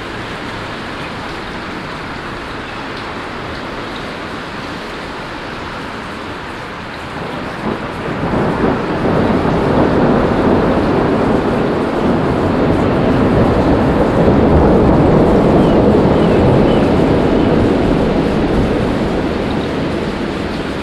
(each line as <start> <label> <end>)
0.0 hailstorm 20.8